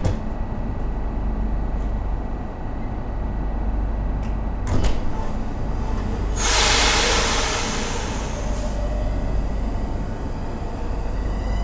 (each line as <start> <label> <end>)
0.0 Passengers board inside the train 11.6
5.0 the train arrives 11.6
5.1 second train arrives 11.6